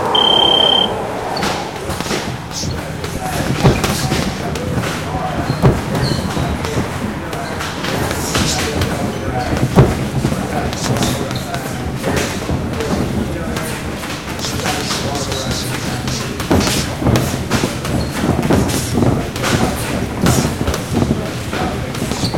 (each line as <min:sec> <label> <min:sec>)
0:00.0 round timer bells 0:01.0
0:00.0 traffic passing open garage-bay doors 0:22.3
0:00.1 Speedbag 0:22.3
0:01.4 sparring 0:22.3
0:01.4 punching mitts 0:21.2